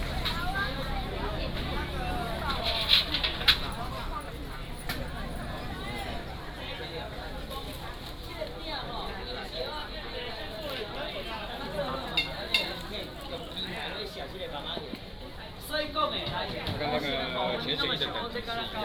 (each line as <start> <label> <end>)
0.0 Sellers selling sound 8.1
0.0 Traffic sound 15.1